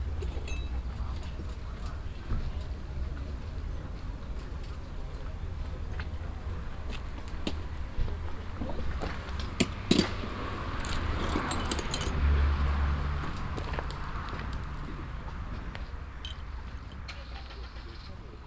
talks and sounds while packing 0:00.3 - 0:12.2

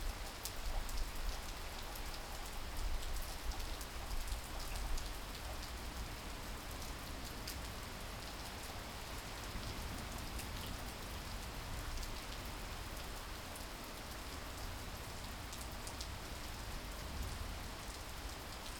rain 0:00.0 - 0:18.7

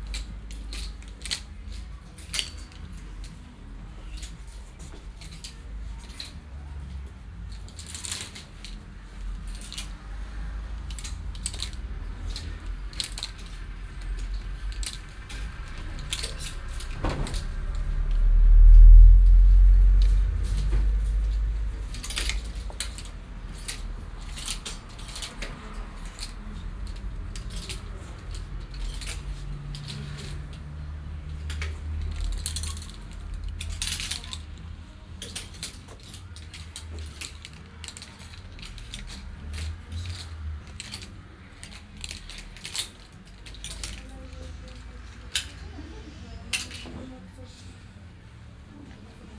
customers sliding plastic hangers with clothes 0:00.0 - 0:49.3
small radio playing by the entrance 0:00.0 - 0:49.3
traffic noise from the street 0:00.0 - 0:49.3

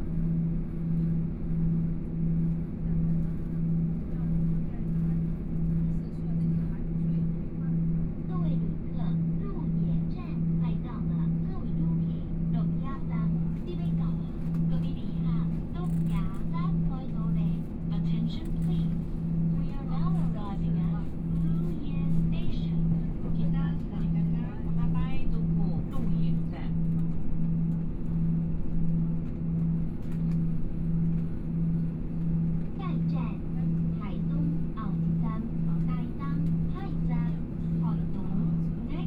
Train noise 0:00.0 - 0:39.0

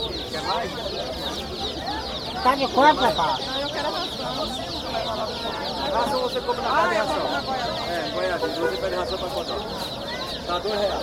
Painted chicks 0:00.0 - 0:11.0

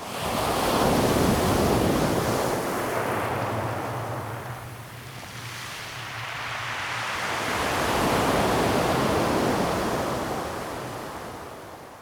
Waves 0:00.0 - 0:11.9

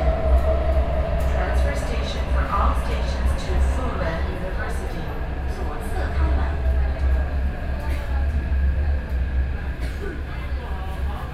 MRT train 0:00.0 - 0:11.3

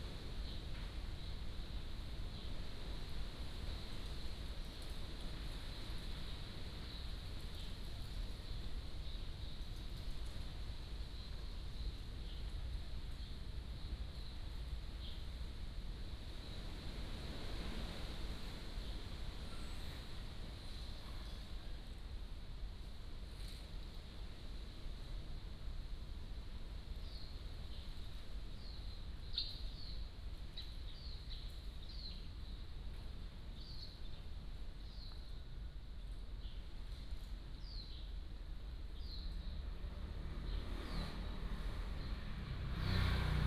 Wind 0:00.0 - 0:43.4

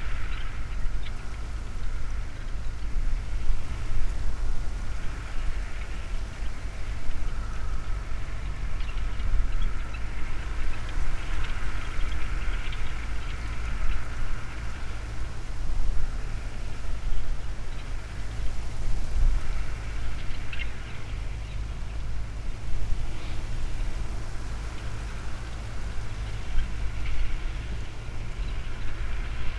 tractor doing its thing on the field in the distance 0:00.0 - 0:29.5

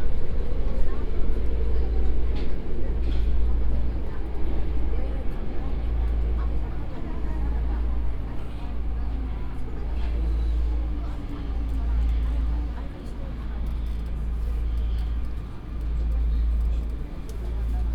subway train 0:00.0 - 0:17.9

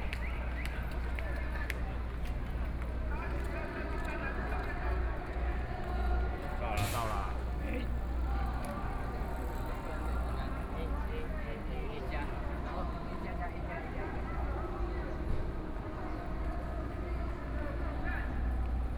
Protest 0:06.8 - 0:09.8

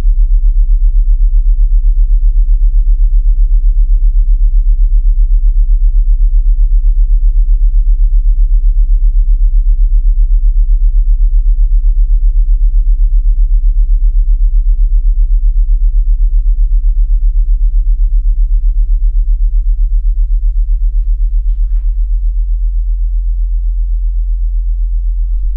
subsonic sound of the sound and light installation 0:19.1 - 0:25.5

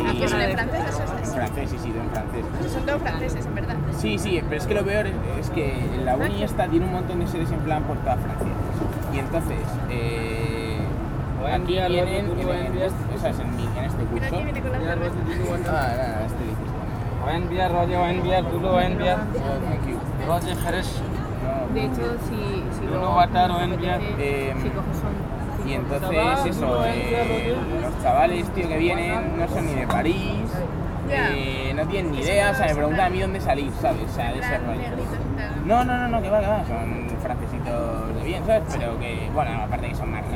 Spanish tourist are drinking beers 0:00.0 - 0:40.3

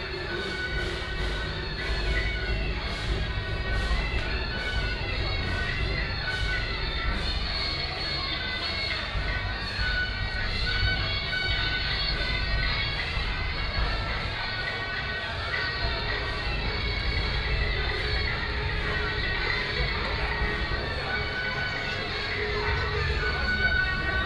Walking on the road 0:00.0 - 0:24.2

